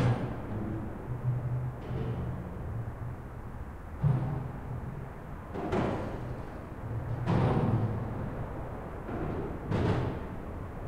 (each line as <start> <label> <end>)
0.0 roar of a bridge, when the cars drive over the bridge 10.8